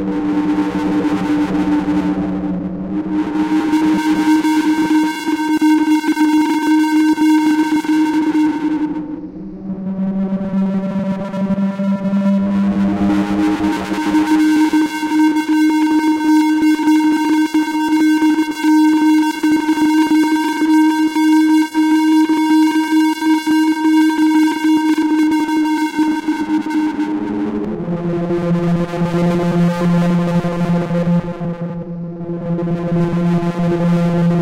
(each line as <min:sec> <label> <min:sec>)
0:00.0 technological drone sound 0:15.2
0:26.1 technological drone sound 0:34.4